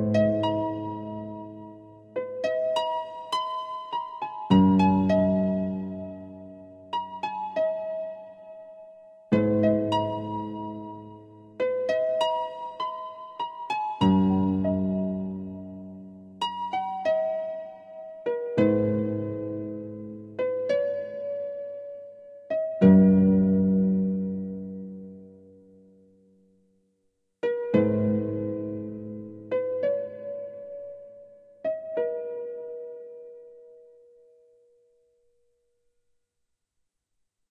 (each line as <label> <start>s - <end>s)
harp 0.0s - 25.3s
synthesizer 0.0s - 26.6s
synthesizer 27.4s - 35.2s